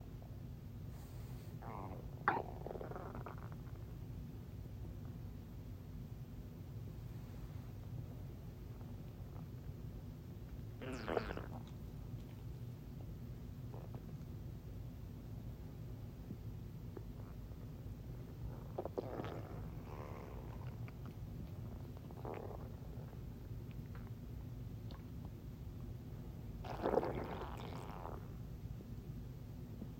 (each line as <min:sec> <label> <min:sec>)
0:01.6 dog's upset stomach gurgling 0:03.9
0:10.8 dog's upset stomach gurgling 0:12.5
0:18.3 dog's upset stomach gurgling 0:24.2
0:26.6 dog's upset stomach gurgling 0:28.4